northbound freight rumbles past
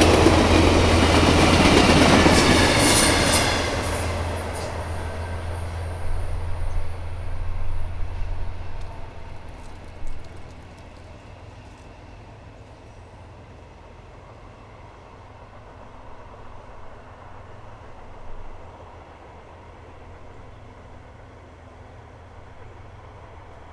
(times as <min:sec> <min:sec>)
0:00.0 0:14.0